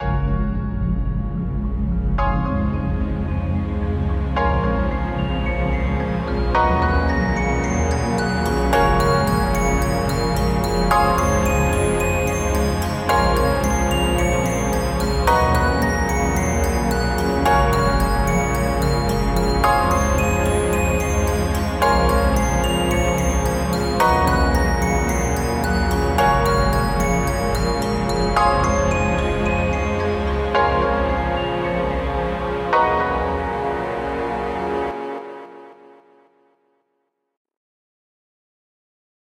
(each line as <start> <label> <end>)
5.0 polychord phase 36.1